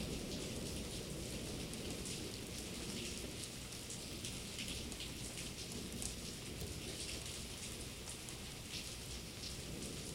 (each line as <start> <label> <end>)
0.0 rain 10.1